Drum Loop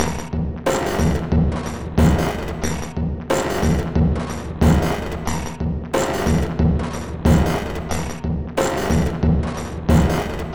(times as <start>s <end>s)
0.7s 5.4s, 6.0s 6.7s, 7.3s 8.0s, 8.6s 10.5s